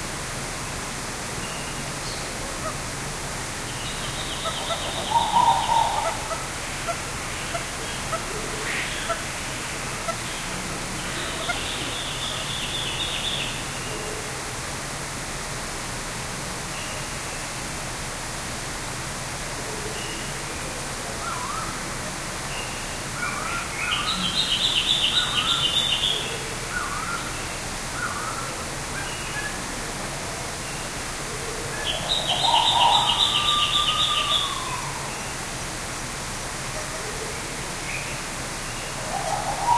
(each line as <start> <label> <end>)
0.0 waterfall 39.7
3.8 Purple-throated Fruitcrow 9.3
9.9 Purple-throated Fruitcrow 13.6
31.7 Purple-throated Fruitcrow 35.3
38.7 Purple-throated Fruitcrow 39.7